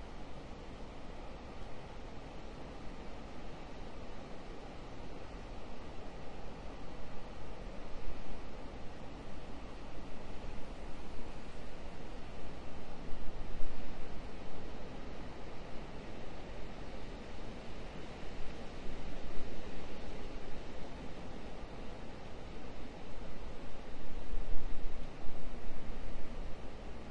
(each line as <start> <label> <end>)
0.0 wind 27.1